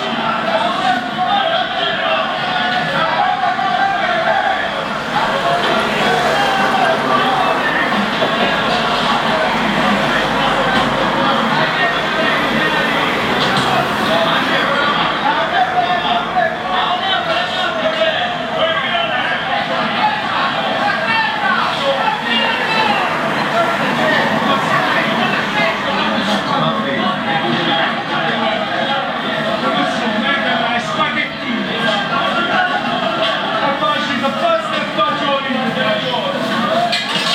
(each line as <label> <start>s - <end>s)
energic big cities 0.0s - 34.3s